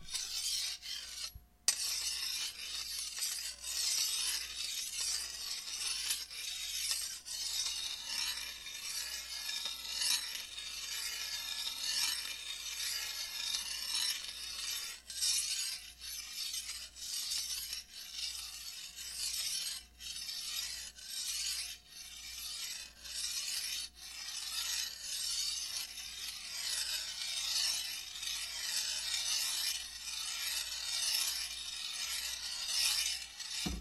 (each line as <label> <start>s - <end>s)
Metal Grinding-Sharpening 0.0s - 33.8s